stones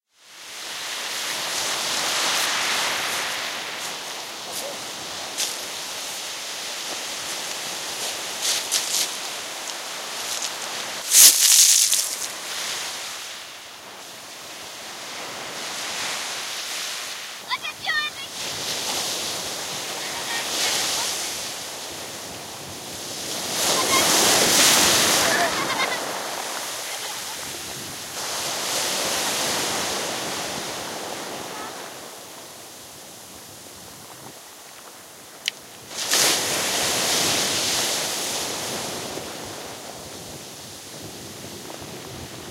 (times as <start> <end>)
11.1 12.3